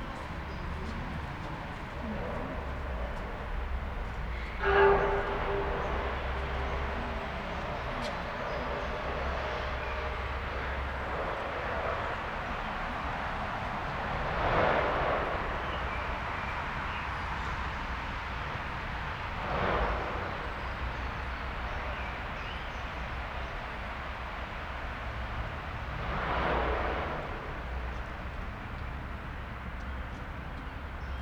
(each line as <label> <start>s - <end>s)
excavator working in the distance 0.0s - 24.0s